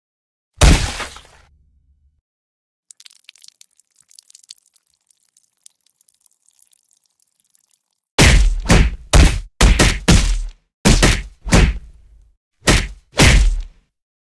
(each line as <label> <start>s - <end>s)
splat 0.6s - 1.5s
drip 2.9s - 8.0s
splat 8.2s - 11.8s
splat 12.7s - 13.7s